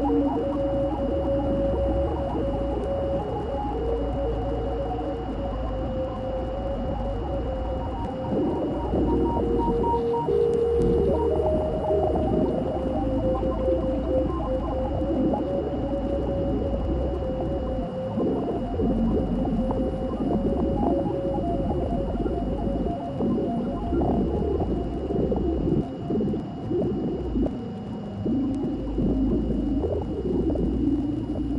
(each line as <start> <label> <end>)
7.5 radio static 27.5